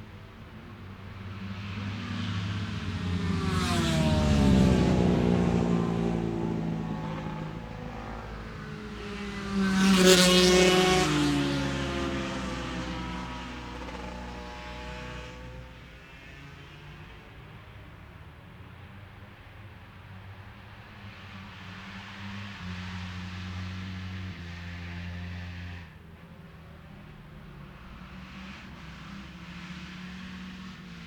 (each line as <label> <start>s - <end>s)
Lightweight motorbike practice 1.2s - 17.4s